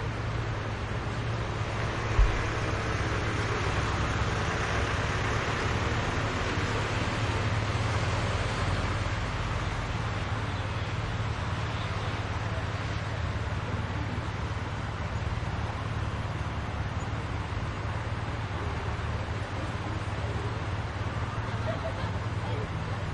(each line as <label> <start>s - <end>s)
busy traffic 0.0s - 23.1s
distant voices 0.0s - 23.1s